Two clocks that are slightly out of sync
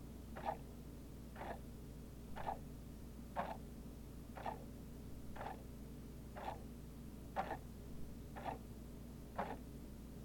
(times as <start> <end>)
0.4 0.7, 2.4 2.6, 4.4 4.6, 6.4 6.7, 8.3 8.6